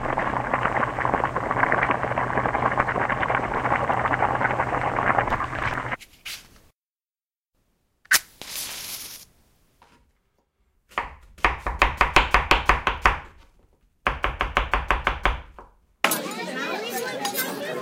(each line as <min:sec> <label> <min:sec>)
0:00.0 boiling water 0:06.0
0:08.1 match 0:09.3
0:10.9 chopping 0:13.3